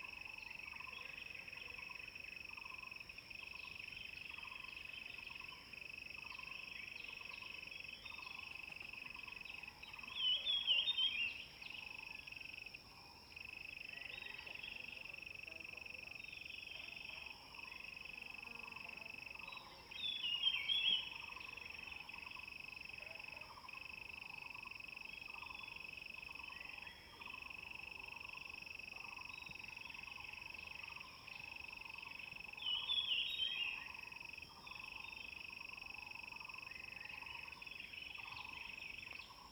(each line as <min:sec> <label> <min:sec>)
0:00.0 Insects sounds 0:39.5
0:00.0 birds 0:39.5